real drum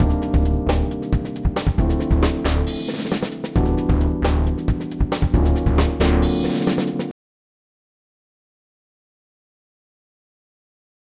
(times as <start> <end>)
0.0 7.1